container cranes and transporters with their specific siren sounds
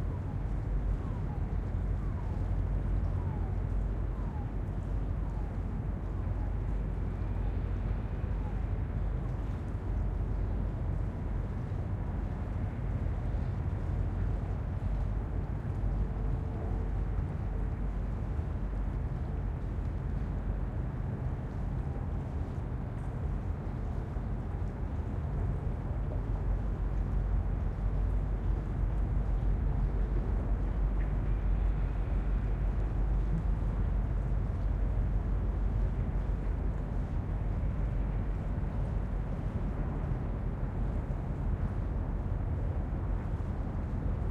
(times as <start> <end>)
0.1 8.9